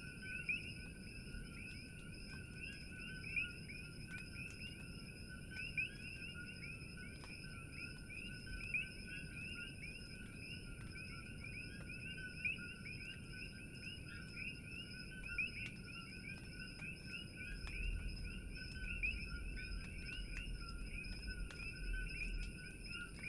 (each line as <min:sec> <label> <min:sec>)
0:00.0 Coqui's -tree frogs- 0:23.2